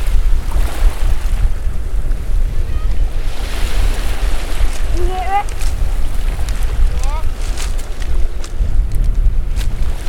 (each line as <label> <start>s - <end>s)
Children from Dorset Beach School recording and talking 2.5s - 3.2s
waves landing on the shore 3.2s - 10.0s
Children from Dorset Beach School recording and talking 4.9s - 5.7s
Children from Dorset Beach School recording and talking 6.8s - 7.4s